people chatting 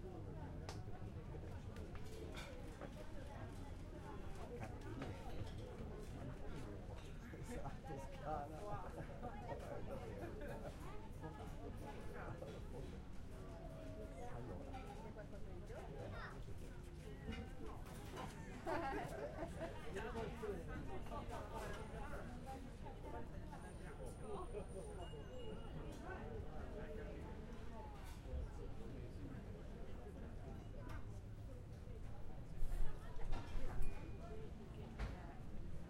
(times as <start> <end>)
13.6 35.6